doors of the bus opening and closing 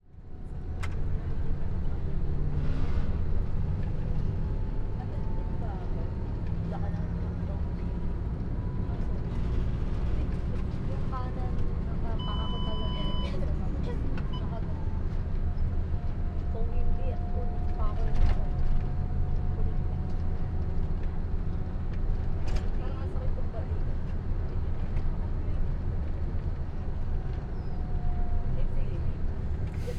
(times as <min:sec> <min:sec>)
0:29.2 0:29.9